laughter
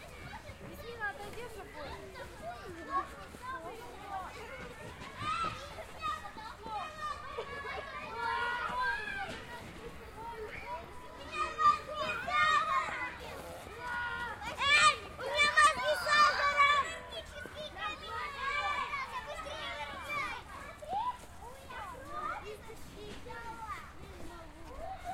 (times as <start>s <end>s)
7.2s 8.0s